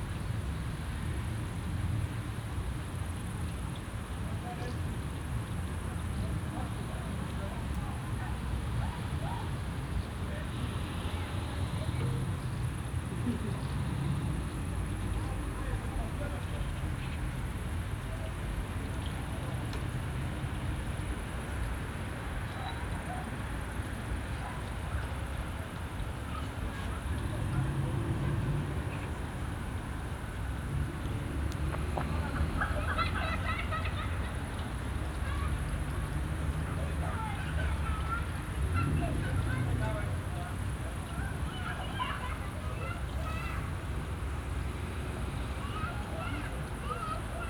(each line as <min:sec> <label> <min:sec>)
0:05.8 kids playing outside 0:47.4
0:35.2 distant shouts 0:44.0
0:45.4 distant shouts 0:47.4